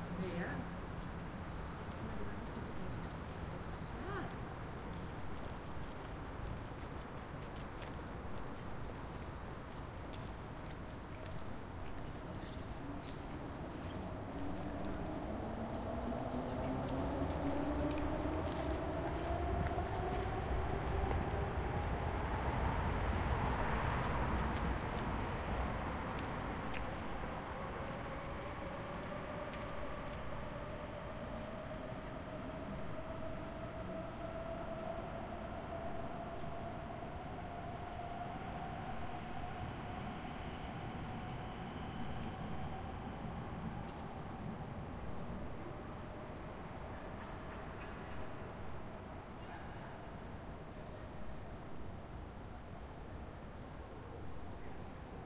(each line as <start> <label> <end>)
0.0 wind 55.2
0.9 bicycles 49.1
14.1 train (S-Bahn) driving off 50.1